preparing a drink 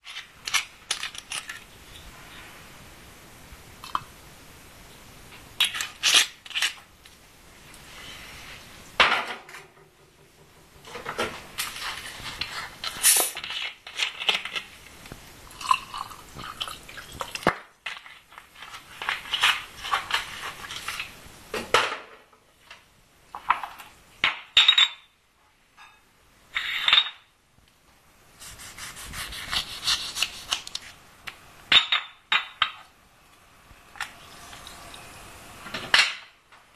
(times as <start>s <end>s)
0.0s 2.0s, 10.9s 21.2s, 33.8s 35.9s